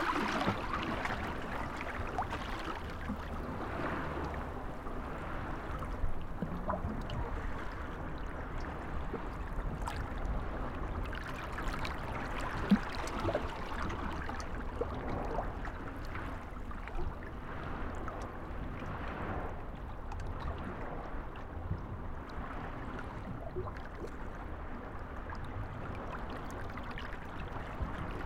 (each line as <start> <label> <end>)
0.0 Waves on the breakwater 28.2